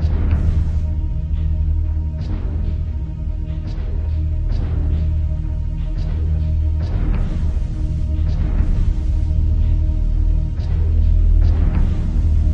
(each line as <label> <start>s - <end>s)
synthesizer 0.0s - 12.5s